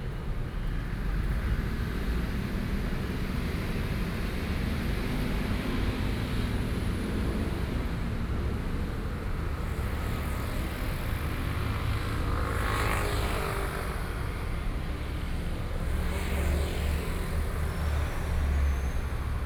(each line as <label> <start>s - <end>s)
Traffic Noise 0.0s - 19.4s